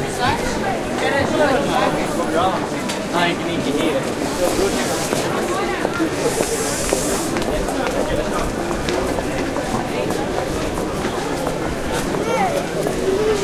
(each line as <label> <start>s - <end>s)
voices 0.0s - 13.4s